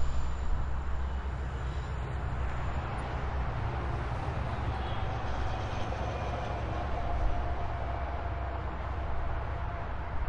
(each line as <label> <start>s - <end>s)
Distant Highway 0.0s - 10.2s